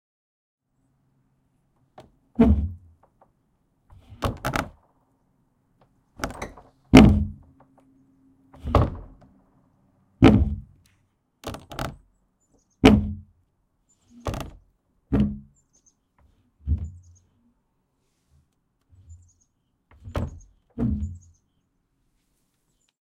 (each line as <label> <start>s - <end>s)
wood scraping 1.8s - 5.0s
hinged barn door open and close 1.8s - 9.6s
wood squeak 3.9s - 4.8s
wood scraping 5.8s - 9.4s
wood squeak 6.2s - 9.2s
wood scraping 10.2s - 12.1s
hinged barn door open and close 10.2s - 13.4s
wood squeak 11.4s - 13.3s
wood scraping 12.8s - 13.3s
wood scraping 14.1s - 15.6s
wood squeak 14.1s - 17.3s
hinged barn door open and close 14.1s - 15.6s
hinged barn door open and close 16.2s - 17.2s
wood scraping 16.2s - 17.2s
wood squeak 18.9s - 21.5s
hinged barn door open and close 19.9s - 21.4s
wood scraping 19.9s - 21.4s